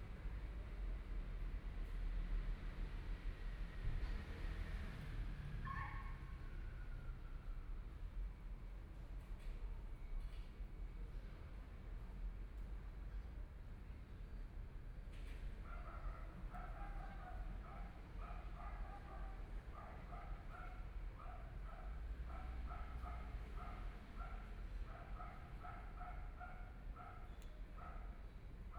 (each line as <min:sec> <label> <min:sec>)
0:15.7 Dogs barking 0:28.1